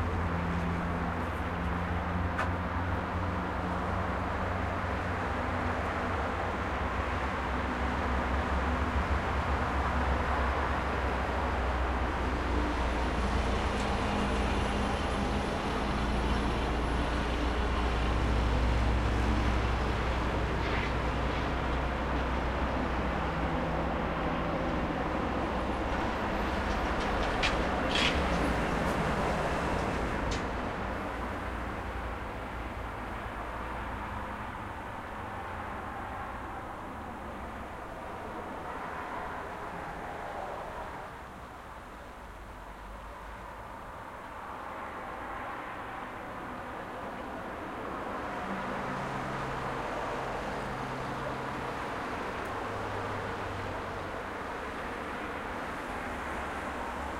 cars 0.0 - 57.1

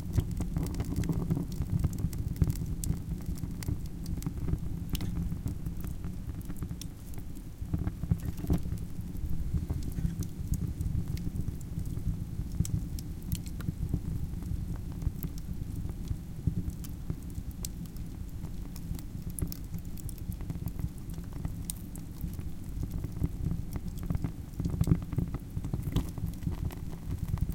wood burning stove 0.0 - 27.5

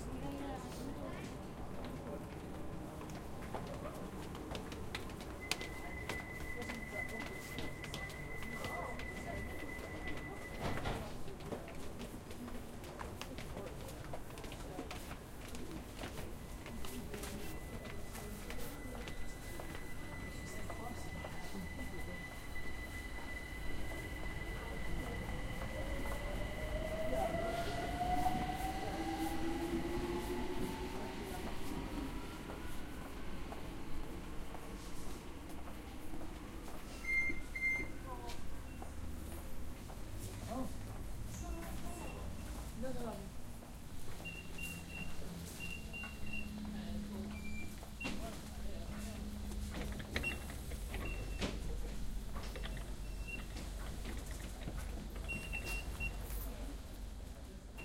train 0.0 - 57.8
announcement 16.7 - 35.1

